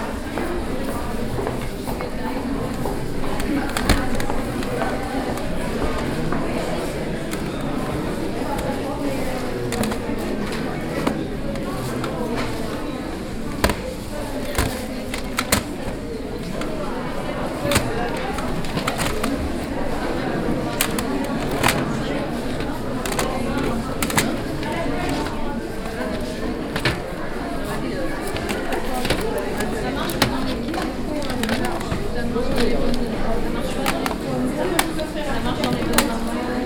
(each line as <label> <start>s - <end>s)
crowd 0.0s - 36.6s